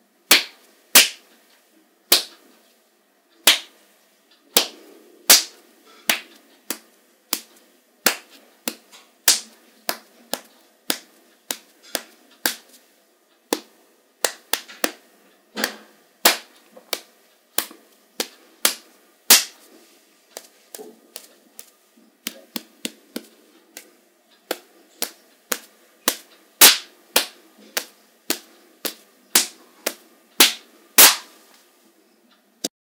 slaps 0:00.3 - 0:01.3
slaps 0:02.1 - 0:02.4
slaps 0:03.4 - 0:03.8
slaps 0:04.6 - 0:12.8
slaps 0:13.5 - 0:15.0
slaps 0:15.6 - 0:19.7
slaps 0:20.3 - 0:31.4
punches 0:26.1 - 0:29.5

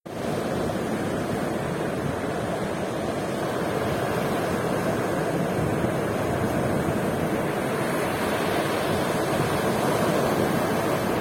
sea 0:00.1 - 0:11.2
wind noise on the microphone 0:00.1 - 0:11.2

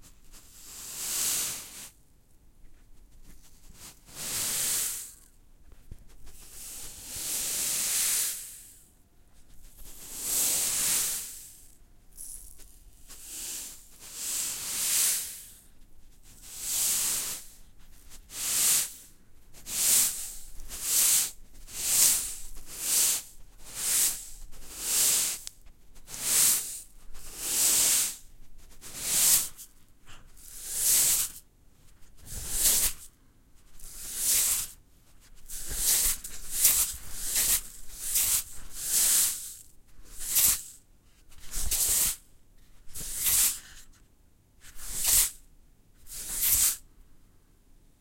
Tipping a plastic salt shaker 0:00.4 - 0:01.9
Tipping a plastic salt shaker 0:03.6 - 0:05.3
Tipping a plastic salt shaker 0:09.6 - 0:15.7
Tipping a plastic salt shaker 0:16.3 - 0:31.4
Tipping a plastic salt shaker 0:32.0 - 0:44.0
Tipping a plastic salt shaker 0:44.6 - 0:45.4
Tipping a plastic salt shaker 0:46.1 - 0:46.8

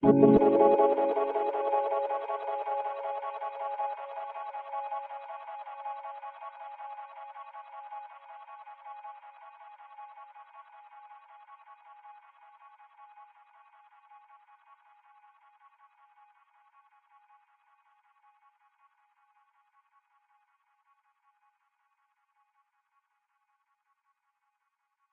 synth 0:00.0 - 0:06.2

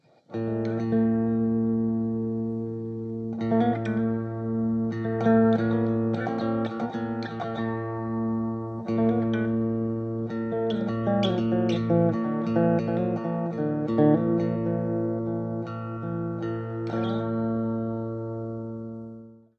short riff with a minor sound played over open strings 0:07.0 - 0:19.3

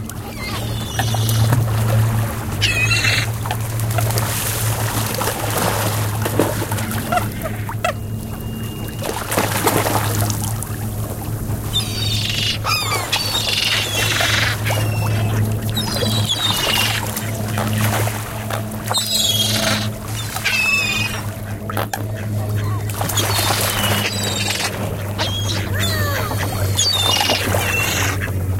splash 0:00.0 - 0:11.8
Carp Fish Feeding Frenzy 0:00.0 - 0:28.5
tourist helicopters occasionally pass by 0:00.0 - 0:28.5
ducks 0:00.1 - 0:01.9
seagulls 0:00.2 - 0:01.7
seagulls 0:02.6 - 0:03.4
ducks 0:02.6 - 0:04.4
ducks 0:06.3 - 0:10.1
seagulls 0:06.9 - 0:09.8
ducks 0:11.7 - 0:28.5
seagulls 0:11.7 - 0:28.5
splash 0:12.6 - 0:21.8
splash 0:22.8 - 0:28.5

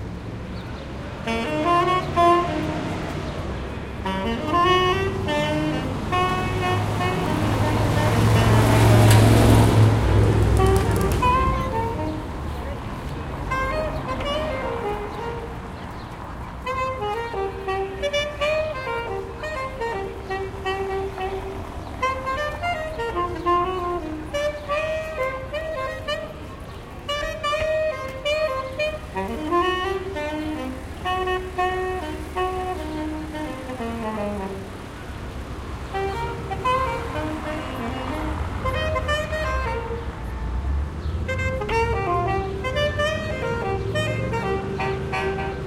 saxophone player playing Jazz 0:01.1 - 0:45.6

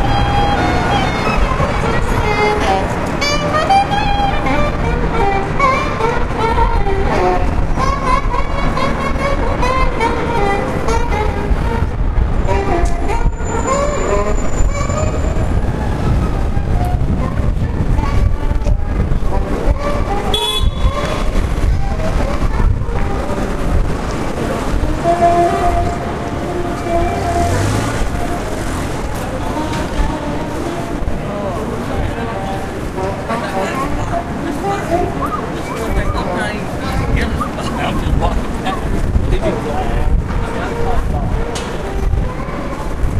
automobiles 0:00.0 - 0:43.1
street musician 0:00.0 - 0:43.1
wind 0:00.0 - 0:43.1

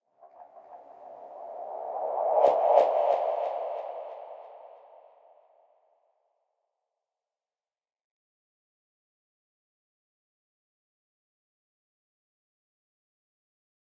wind 0:00.0 - 0:05.9

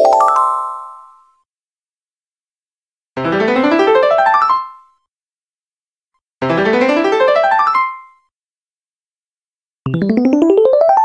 piano 0:06.4 - 0:08.2

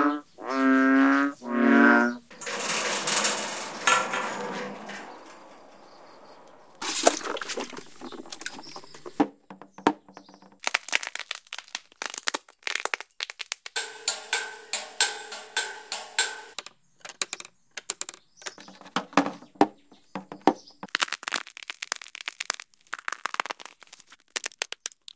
metal farm things 0:00.1 - 0:10.6
insects 0:00.2 - 0:09.1
railings 0:00.2 - 0:10.6
creaks 0:00.4 - 0:10.6
scrapes 0:01.4 - 0:09.2
water wells 0:01.5 - 0:10.4
drips 0:02.2 - 0:09.2
crushed snail shells 0:10.6 - 0:13.8
percussive hits 0:13.7 - 0:16.6
scrapes 0:13.8 - 0:16.6
water wells 0:13.8 - 0:16.6
metal farm things 0:13.8 - 0:20.9
railings 0:13.8 - 0:20.9
crushed snail shells 0:20.9 - 0:25.1

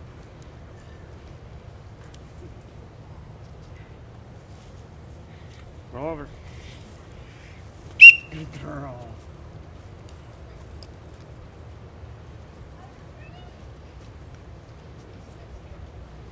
high-pitched training whistle 0:08.0 - 0:08.4
commands 0:08.0 - 0:09.1

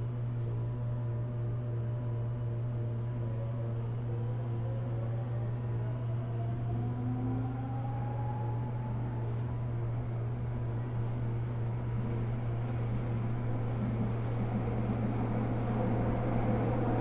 metro trip 0:00.0 - 0:17.0

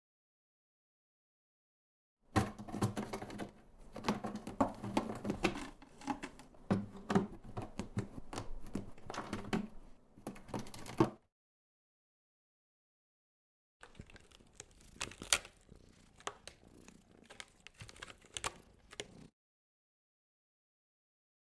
Cat scratching 0:13.8 - 0:19.3
Cat snoring 0:18.6 - 0:19.3

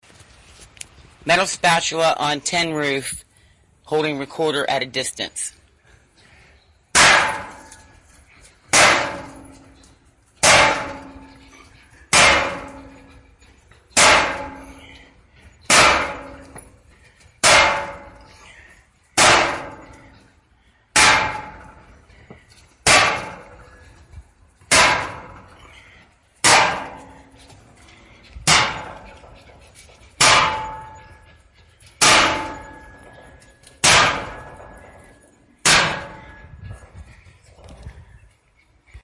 Banging a metal grill spatula against a tin roof 0:07.0 - 0:07.7
Banging a metal grill spatula against a tin roof 0:08.7 - 0:09.6
Banging a metal grill spatula against a tin roof 0:10.4 - 0:11.4
Banging a metal grill spatula against a tin roof 0:12.1 - 0:13.2
Banging a metal grill spatula against a tin roof 0:14.0 - 0:15.0
Banging a metal grill spatula against a tin roof 0:15.7 - 0:16.7
Banging a metal grill spatula against a tin roof 0:17.4 - 0:18.2
Banging a metal grill spatula against a tin roof 0:19.2 - 0:20.1
Banging a metal grill spatula against a tin roof 0:20.9 - 0:21.7
Banging a metal grill spatula against a tin roof 0:22.8 - 0:23.6
Banging a metal grill spatula against a tin roof 0:24.7 - 0:25.5
Banging a metal grill spatula against a tin roof 0:26.4 - 0:27.4
Banging a metal grill spatula against a tin roof 0:28.4 - 0:29.1
Banging a metal grill spatula against a tin roof 0:30.2 - 0:31.1
Banging a metal grill spatula against a tin roof 0:32.0 - 0:33.0
Banging a metal grill spatula against a tin roof 0:33.8 - 0:34.7
Banging a metal grill spatula against a tin roof 0:35.6 - 0:36.5

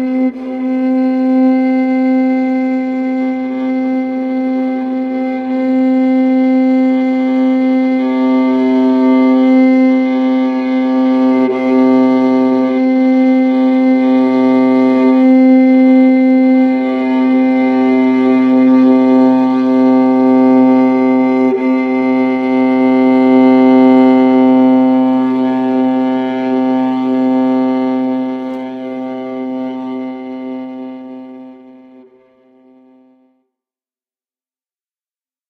Viola C drone long 0:00.0 - 0:33.3

